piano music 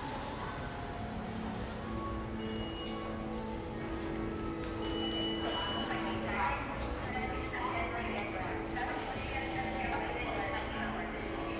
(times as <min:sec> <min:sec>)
0:00.0 0:09.1